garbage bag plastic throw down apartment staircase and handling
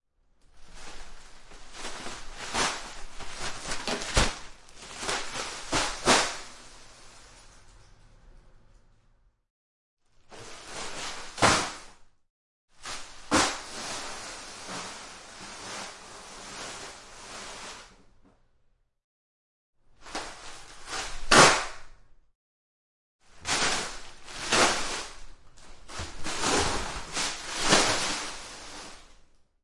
0.4 7.8, 10.2 12.0, 12.8 18.0, 20.0 22.0, 23.3 29.4

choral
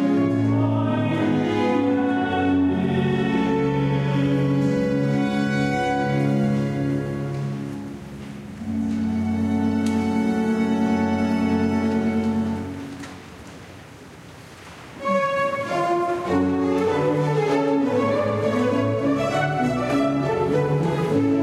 0.0 7.5, 15.1 21.4

